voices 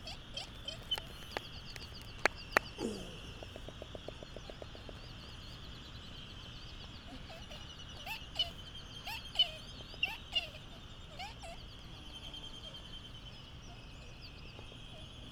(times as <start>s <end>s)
0.0s 5.0s